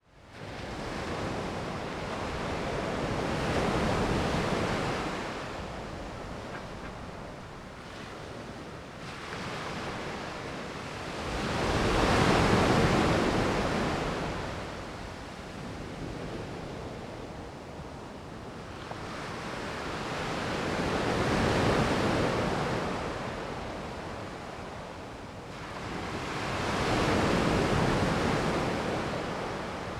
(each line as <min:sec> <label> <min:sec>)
0:00.3 Ocean waves 0:16.9